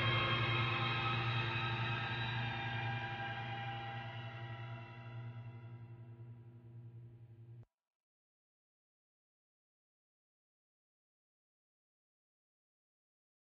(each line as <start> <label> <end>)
0.0 7-string electric guitar 5.7